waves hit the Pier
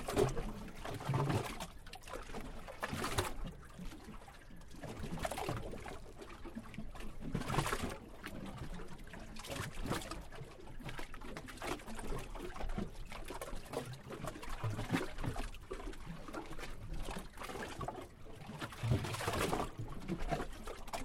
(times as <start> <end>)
0.0 12.8